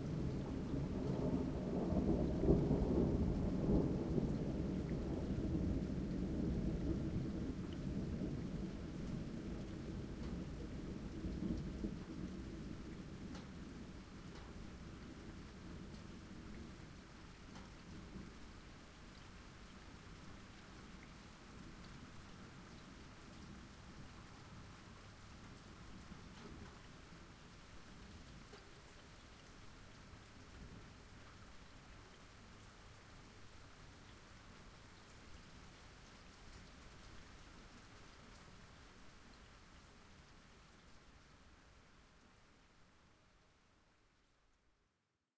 rain 0.0 - 45.3
Rumblings of thunder 0.2 - 12.1

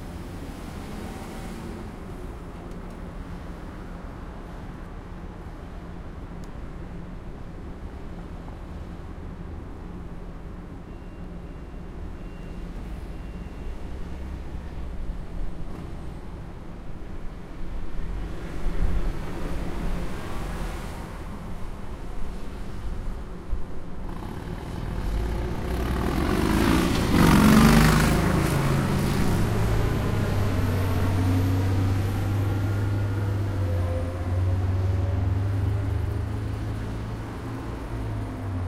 traffic 0.0 - 38.6
motorcycle 24.0 - 38.6

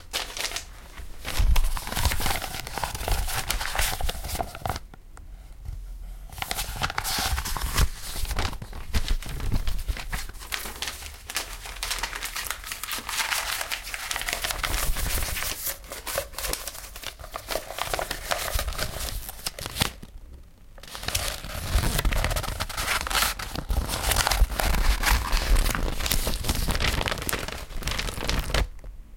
PAPER SHUFFLING 0.0 - 4.8
PAPER SHUFFLING 6.3 - 20.1
PAPER SHUFFLING 20.8 - 28.8

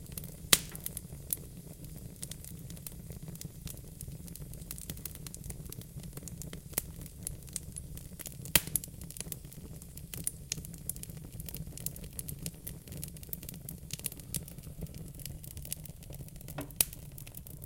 fireplace 0.0 - 17.6

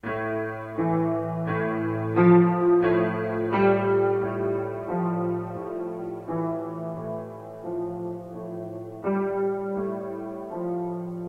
Slow piano melody 0.0 - 11.2

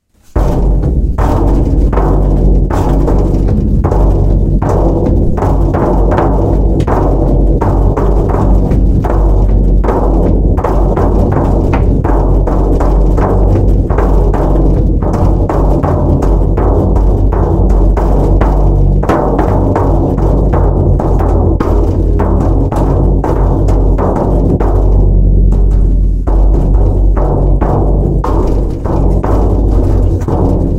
drum 0.0 - 30.7

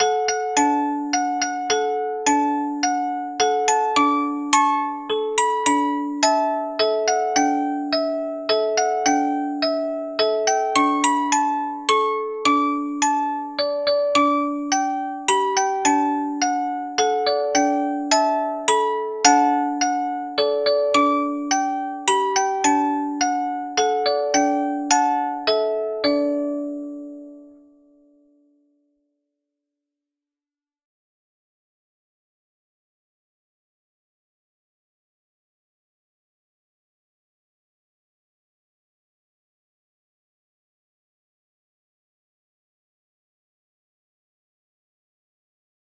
Music Box Playing Berceuse 0.0 - 27.6

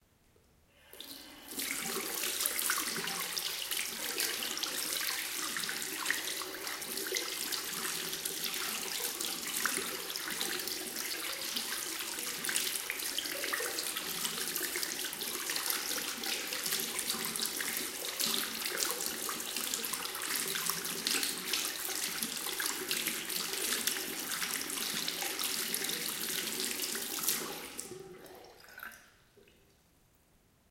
Washing hands 0.9 - 28.4

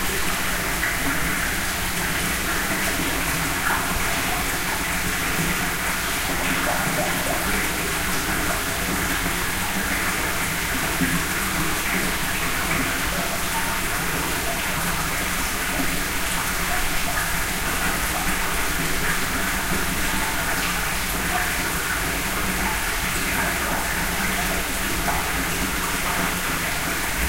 Water flowing in an enclosed spring house 0.0 - 27.2

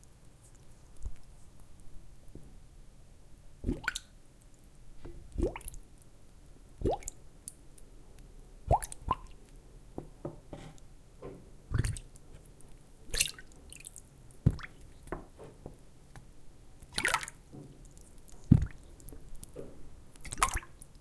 bubble blubs 3.6 - 4.0
bubble blubs 11.7 - 12.0

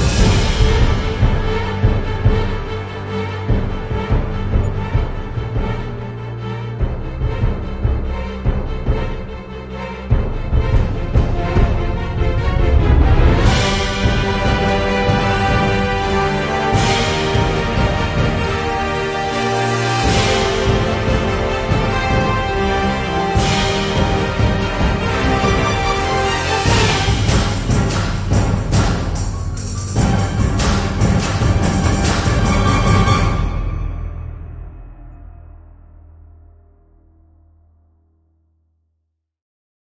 brass/string ensemble 0.0 - 35.0
Huge drums 0.0 - 36.8
soaring french horn 12.4 - 27.4

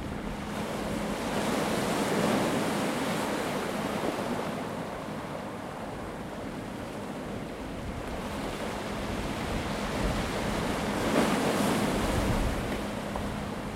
constant presence of wind 0.0 - 13.7
waves of a rough sea 0.0 - 13.7

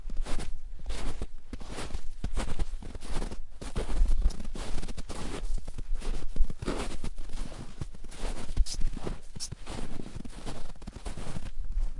Footsteps in soft snow 0.0 - 11.9

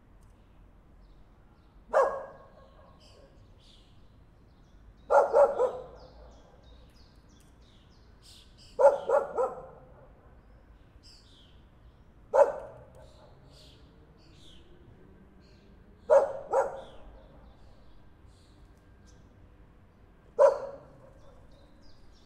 birds 0.2 - 22.2
dog barking 1.9 - 3.3
dog barking 5.1 - 6.7
dog barking 8.8 - 10.2
dog barking 12.3 - 13.5
dog barking 16.1 - 17.5
dog barking 20.4 - 21.7

